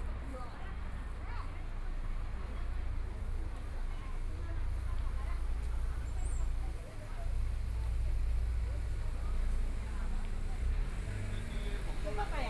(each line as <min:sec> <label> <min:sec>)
0:00.0 The crowd gathered on the street 0:12.4
0:00.0 Walking through the old neighborhoods 0:12.4
0:07.3 Traffic Sound 0:12.4